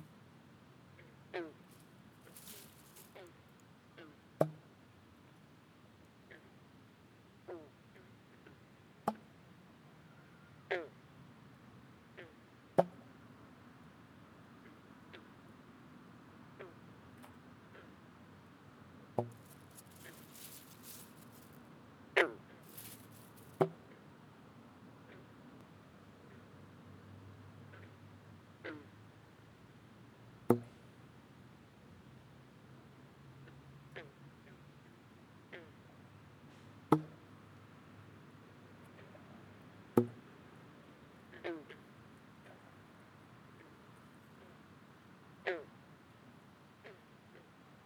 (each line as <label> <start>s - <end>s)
traffic noise 19.3s - 21.6s
bullfrogs in a pond 41.2s - 47.6s